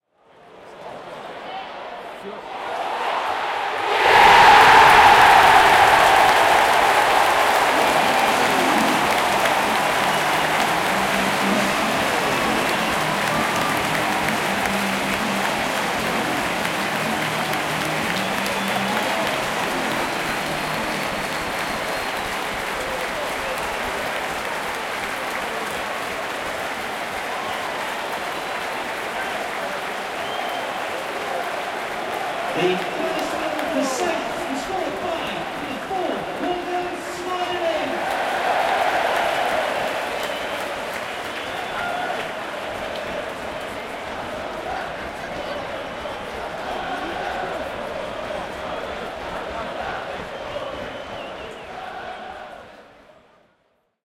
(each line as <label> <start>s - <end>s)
Football Crowd 0.0s - 54.0s
Cheer 0.8s - 53.3s